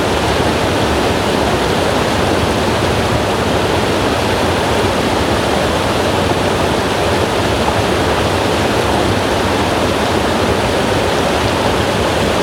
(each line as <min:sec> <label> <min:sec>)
0:00.0 little river in Wallis (Swiss) under the ice and snow 0:12.4